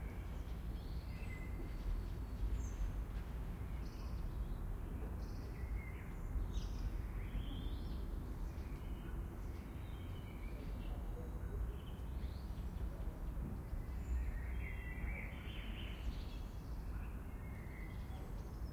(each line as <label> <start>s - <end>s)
blackbird singing 13.7s - 18.7s